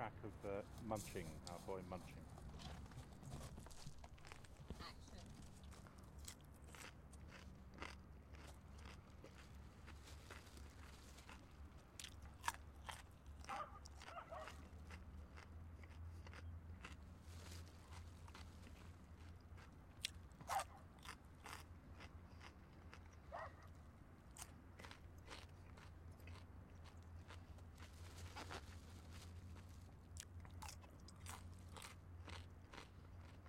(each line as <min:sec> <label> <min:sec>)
0:00.2 Eating a cucumber 0:33.4